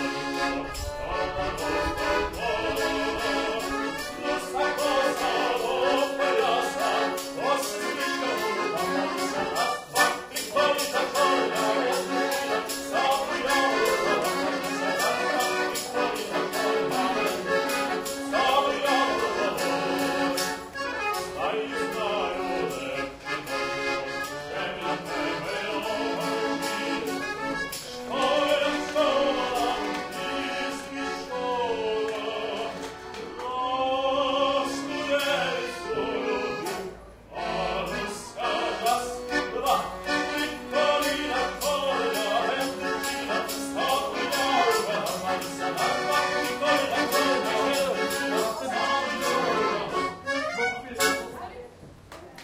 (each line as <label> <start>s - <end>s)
sings 0.0s - 23.4s
busker plays the accordion 0.0s - 51.8s
people walk past 0.0s - 52.4s
sings 24.2s - 50.3s